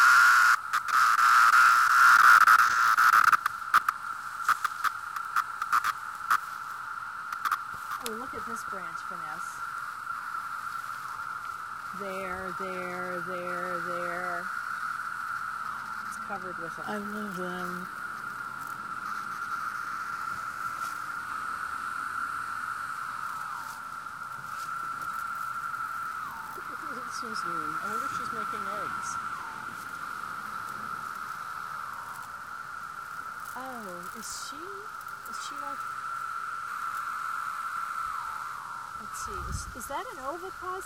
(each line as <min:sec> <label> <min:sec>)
0:00.0 loud buzzing noises are individual cicadas 0:40.8
0:00.0 thousands of cicadas singing in the woods 0:40.8